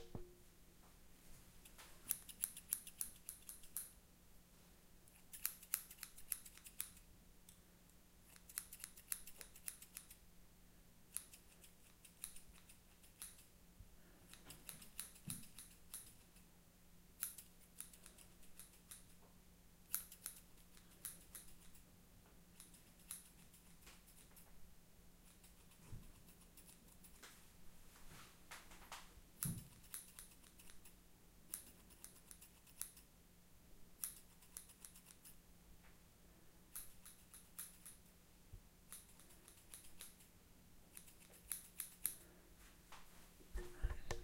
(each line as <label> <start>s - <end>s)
Snipping with hairdresser scissors 1.6s - 4.0s
Snipping with hairdresser scissors 5.1s - 7.0s
Snipping with hairdresser scissors 8.3s - 10.2s
Snipping with hairdresser scissors 11.1s - 13.5s
Snipping with hairdresser scissors 14.3s - 16.4s
Snipping with hairdresser scissors 17.2s - 19.1s
Snipping with hairdresser scissors 19.8s - 21.8s
Snipping with hairdresser scissors 22.6s - 24.4s
Snipping with hairdresser scissors 29.4s - 30.9s
Snipping with hairdresser scissors 31.5s - 33.0s
Snipping with hairdresser scissors 34.0s - 35.4s
Snipping with hairdresser scissors 36.7s - 38.0s
Snipping with hairdresser scissors 38.9s - 40.3s
Snipping with hairdresser scissors 40.9s - 42.2s